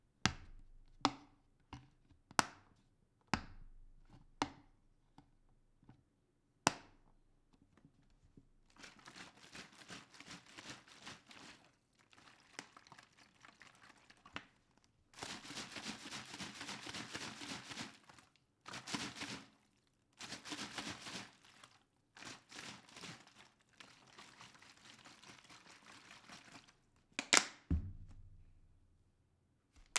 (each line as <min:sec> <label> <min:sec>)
0:08.7 plastic bottle 0:14.6
0:20.2 plastic bottle 0:28.6
0:27.2 Opening plastic bottle cap 0:28.4
0:29.8 plastic bottle 0:29.9